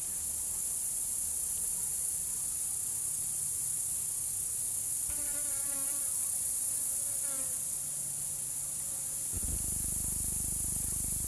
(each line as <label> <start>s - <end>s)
Grasshoppers 0.0s - 11.2s